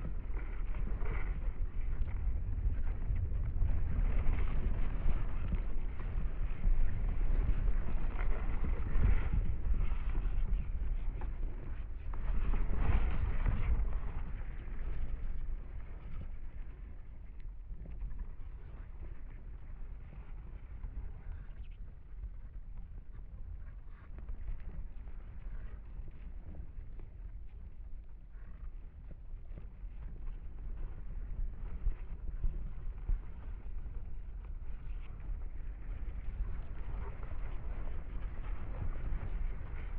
wind moving the reeds 0.0 - 21.7

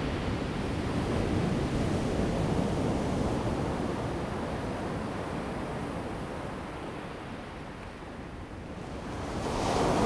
waves 9.2 - 10.0

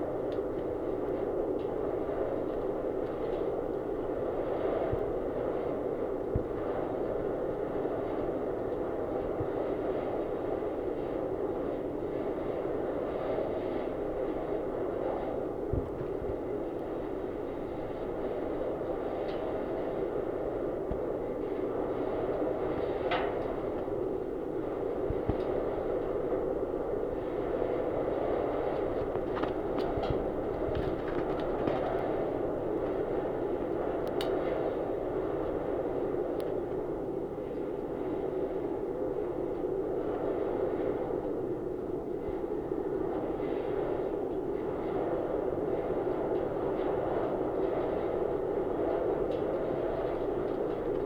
Wind in wires 0.0 - 51.0

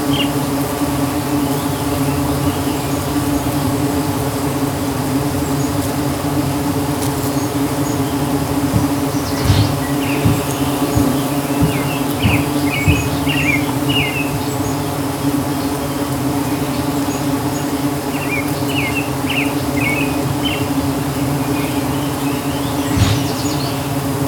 Birds sing 0.0 - 4.4
thousands of bees 0.0 - 24.2
Birds sing 7.1 - 24.2
Screen doors are heard in the distance 7.8 - 14.2
Screen doors are heard in the distance 21.7 - 24.0

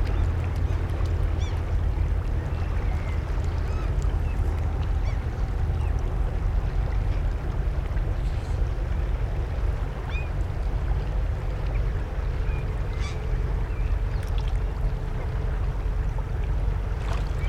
boats 0.0 - 17.4

